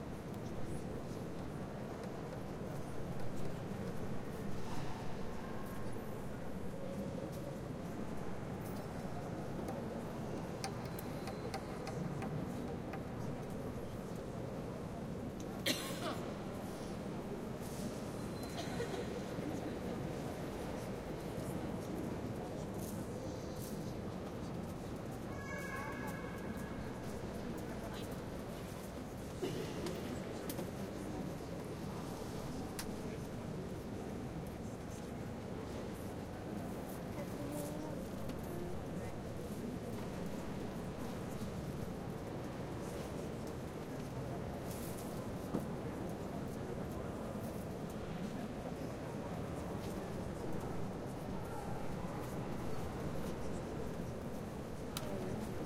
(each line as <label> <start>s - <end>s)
people 0.2s - 55.6s